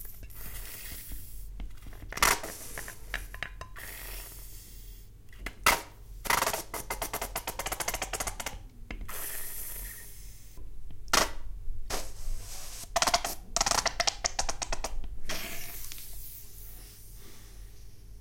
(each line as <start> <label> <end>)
9.1 oozing sound of a squeezed ketchup bottle 10.6
15.3 oozing sound of a squeezed ketchup bottle 17.2